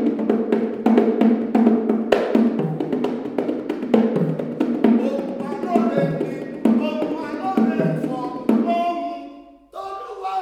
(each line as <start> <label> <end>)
0.0 performing a song in Yoruba 10.4